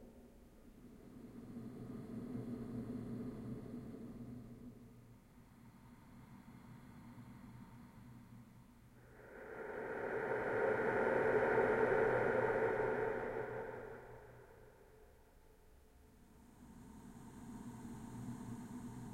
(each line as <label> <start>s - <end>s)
drone 9.0s - 15.4s